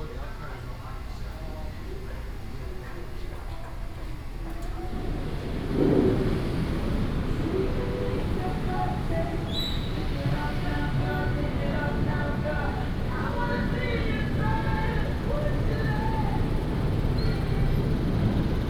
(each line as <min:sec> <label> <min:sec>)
0:05.0 vendors peddling 0:18.6